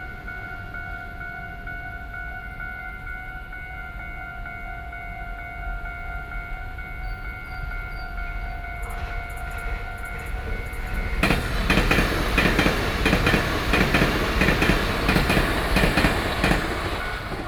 Traveling by train 0.0 - 17.4
Traffic Sound 9.0 - 17.4

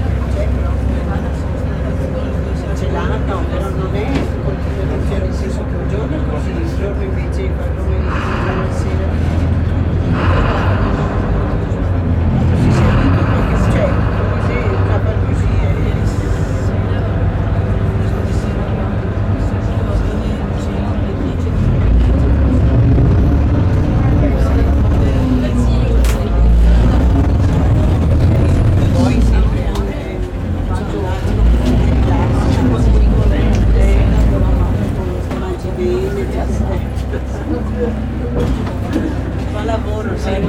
vaporetto 7.7 - 18.0

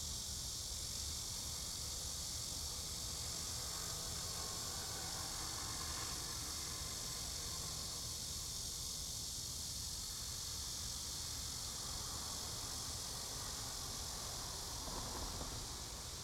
The train runs through 13.0 - 16.2

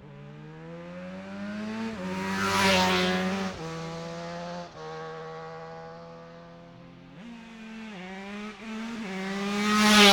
motorcycle road racing 0.0 - 10.1

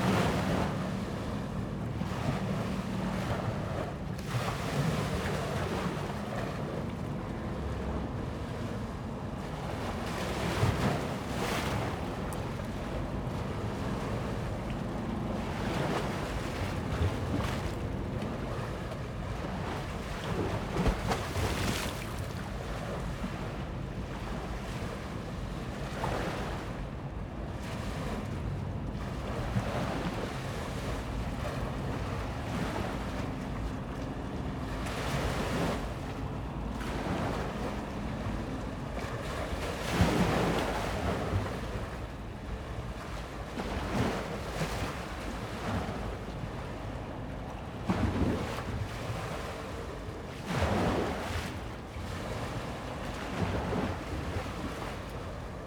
Thames waves on steps to the beach as the tide rises 27.6 - 55.6

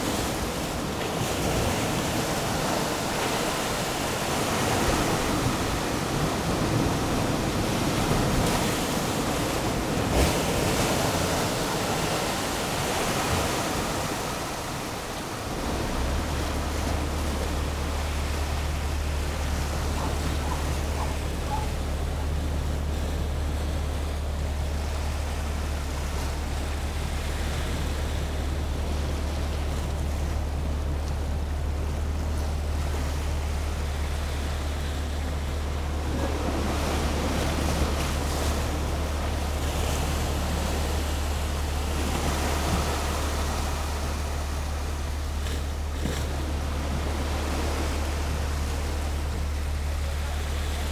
works on the pier 0.0 - 50.9

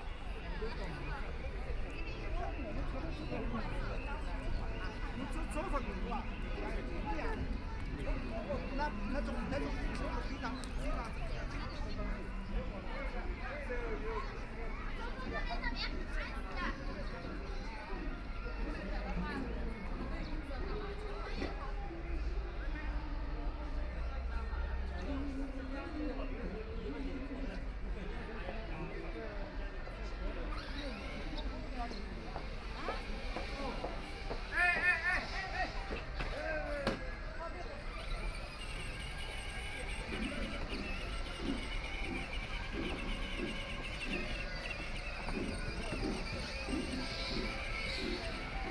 walking 30.6 - 37.0
walking 37.9 - 48.7

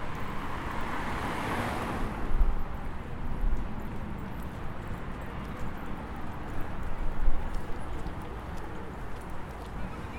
heavy traffic on the road 0.0 - 10.1
trucks and vans 0.0 - 10.1

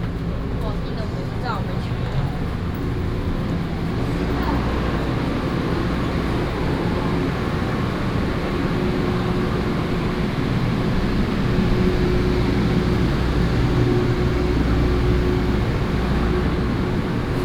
Trains 0.0 - 17.4

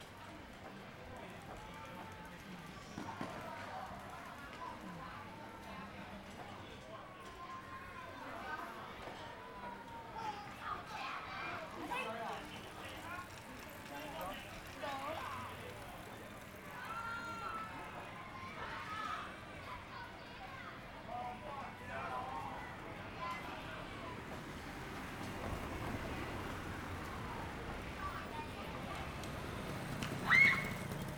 children are playing games 7.5 - 25.2
Motorcycle Sound 24.5 - 31.1
children are playing games 26.8 - 31.1

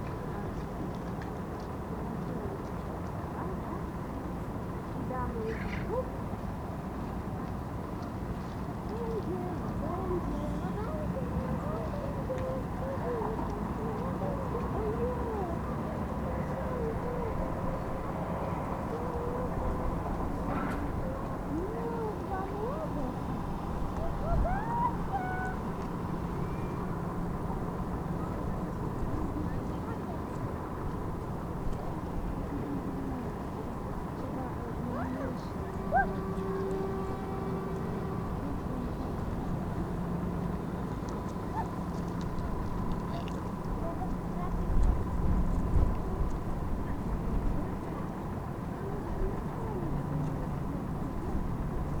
towboat passes by 0.0 - 52.0
cars crossing the bridge 9.7 - 52.0
mother and child feed ducks 40.8 - 51.5

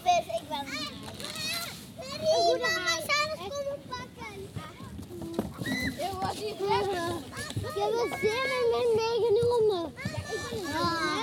Children playing in a boat 0.0 - 11.2

